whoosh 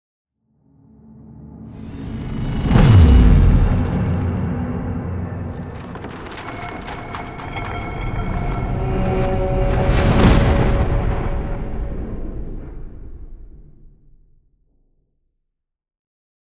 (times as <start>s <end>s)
1.8s 5.6s